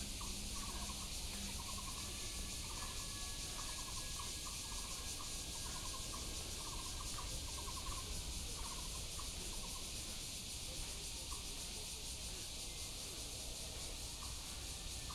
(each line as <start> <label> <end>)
0.0 Bird calls 8.8
0.0 Cicadas cry 15.1